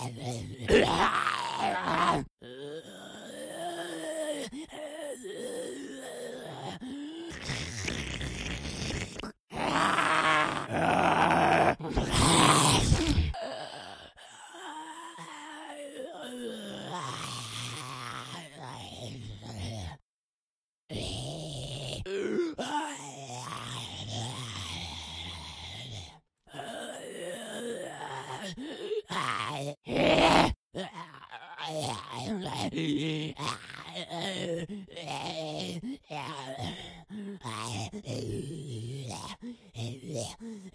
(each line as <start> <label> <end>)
0.0 Single groaning zombie 4.5
5.2 Single groaning zombie 19.1
20.9 Single groaning zombie 34.5